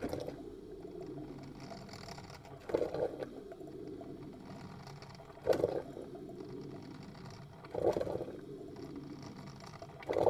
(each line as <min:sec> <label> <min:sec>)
0:00.0 stertorousness of the coffee machine 0:10.2